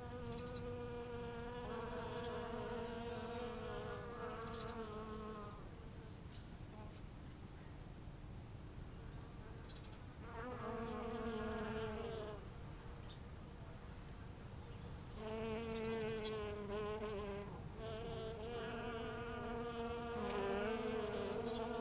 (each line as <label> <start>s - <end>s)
bees collecting from Rucola / rocket blossoms 0.0s - 5.6s
bees collecting from Rucola / rocket blossoms 10.2s - 12.4s
bees collecting from Rucola / rocket blossoms 15.2s - 21.8s